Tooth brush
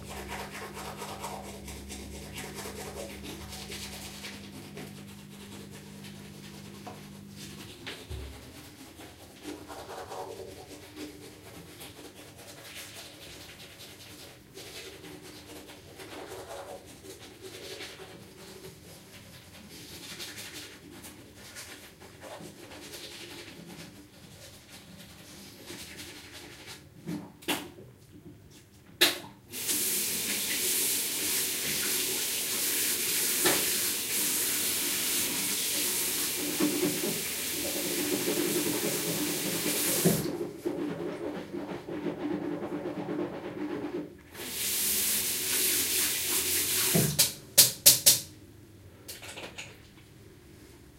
0.0s 26.9s, 33.1s 41.2s

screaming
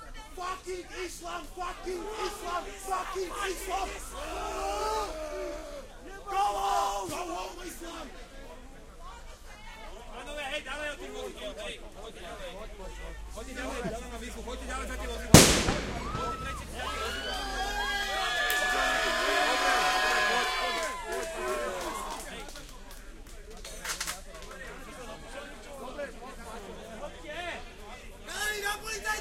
3.4s 7.2s, 16.0s 22.2s

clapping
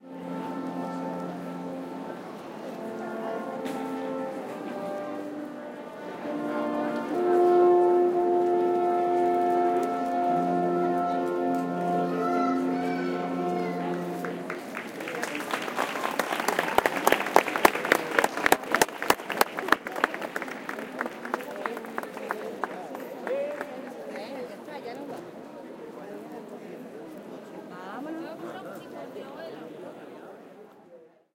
14.2s 24.3s

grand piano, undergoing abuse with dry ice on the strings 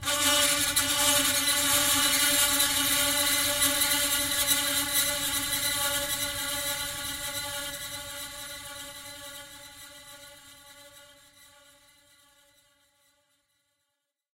0.0s 11.5s

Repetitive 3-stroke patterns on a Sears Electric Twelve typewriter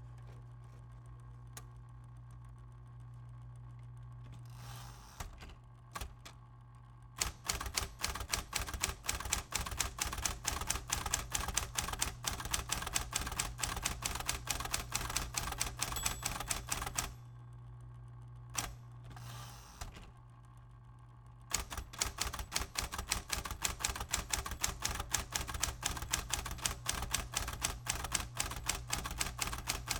7.2s 17.2s, 21.5s 29.9s

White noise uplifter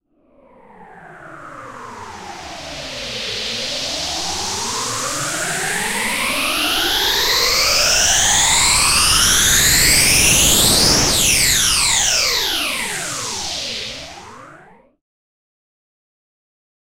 2.1s 14.5s

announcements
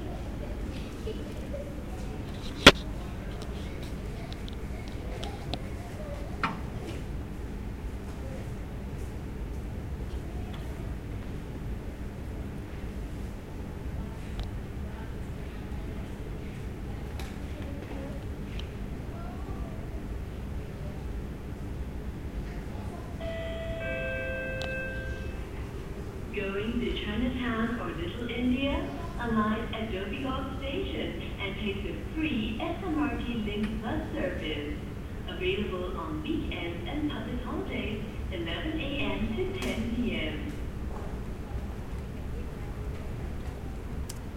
23.0s 40.9s

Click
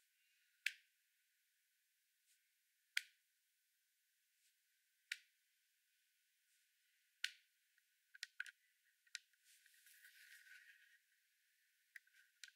2.9s 3.2s

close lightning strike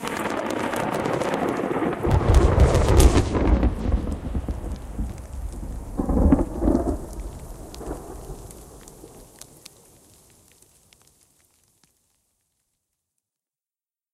0.2s 9.2s

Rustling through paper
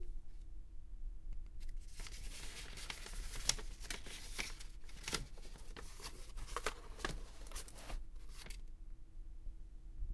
1.6s 8.7s

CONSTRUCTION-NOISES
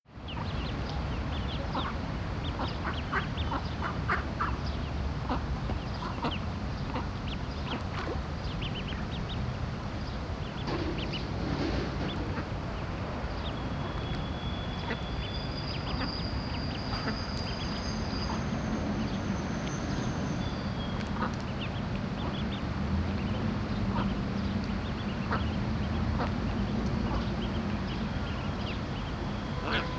9.5s 21.4s

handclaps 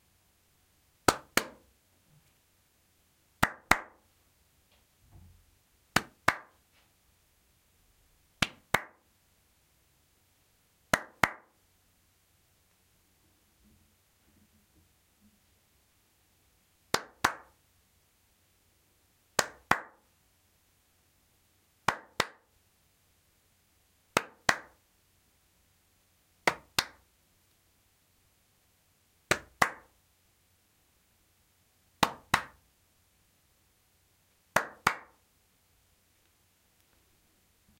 1.0s 1.6s, 3.4s 4.0s, 5.9s 6.6s, 8.4s 9.0s, 10.9s 11.6s, 16.9s 17.6s, 19.4s 20.1s, 21.8s 22.5s, 24.2s 24.8s, 26.4s 27.1s, 29.3s 30.0s, 32.0s 32.6s, 34.5s 35.2s

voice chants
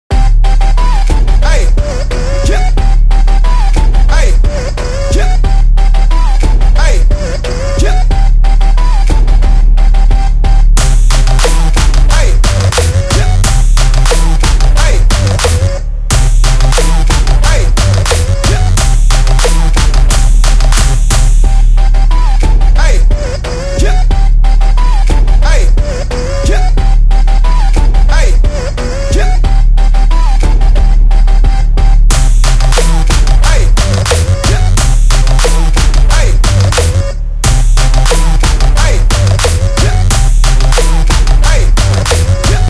1.0s 8.4s, 11.3s 13.6s, 14.4s 15.9s, 16.9s 18.9s, 22.3s 24.4s, 25.0s 29.6s, 33.0s 37.2s, 38.2s 42.6s

